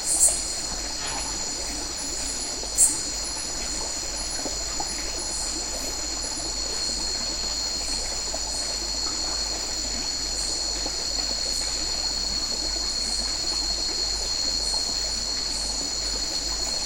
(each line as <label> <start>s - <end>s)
cicada 0.0s - 16.8s
crickets 0.0s - 16.8s
small stream 0.0s - 16.8s